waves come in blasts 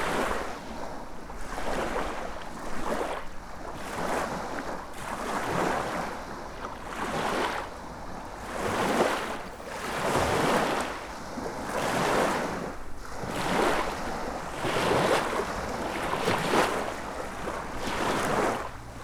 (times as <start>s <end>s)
8.3s 19.0s